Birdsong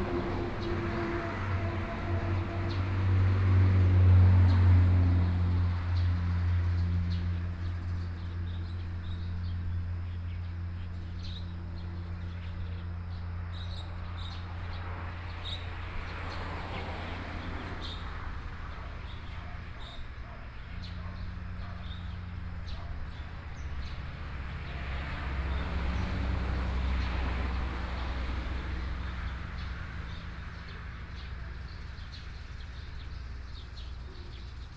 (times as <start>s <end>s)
17.8s 24.6s, 29.2s 34.7s